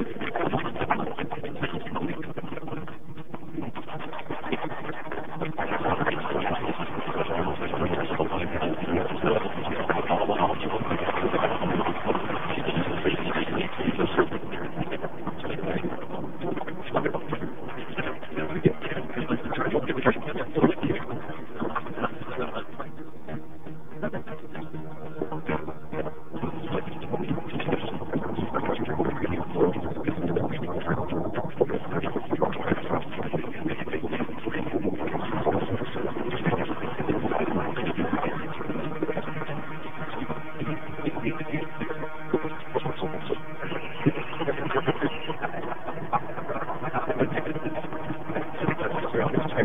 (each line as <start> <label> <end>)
0.0 garbled internet stream 49.6